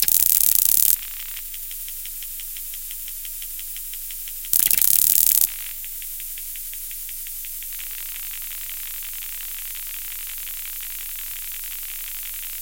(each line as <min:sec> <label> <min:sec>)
0:00.0 cd startup and skipping 0:01.0
0:04.6 cd startup and skipping 0:05.5